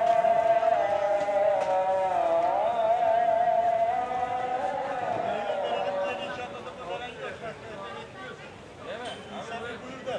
0.0s Call to Prayer 6.7s

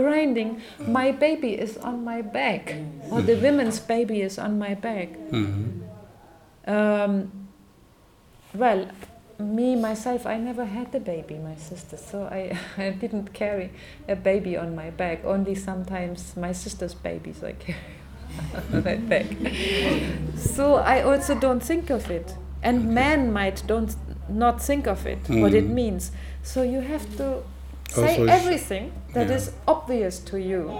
25.3s Antony translates and explains in English 25.8s
27.9s Antony translates and explains in English 29.6s

